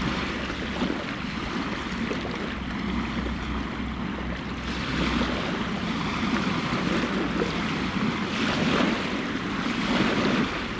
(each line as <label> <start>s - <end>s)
Tide Going Out 0.0s - 10.7s